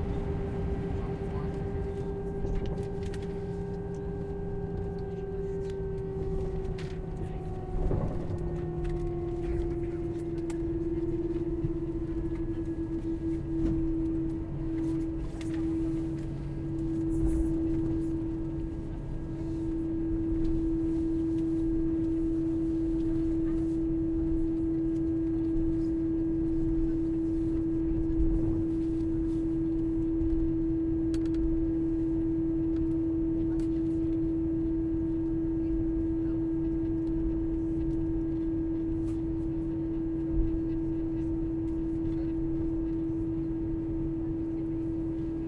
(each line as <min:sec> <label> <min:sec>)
0:00.0 Plane takeoff 0:23.2
0:00.0 engine 0:45.4